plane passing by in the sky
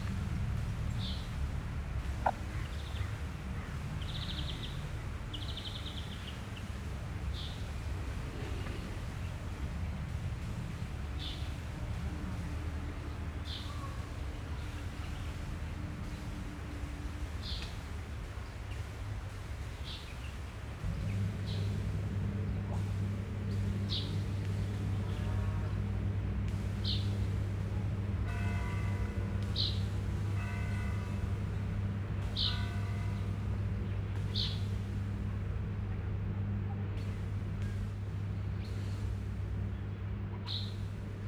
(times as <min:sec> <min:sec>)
0:00.0 0:18.2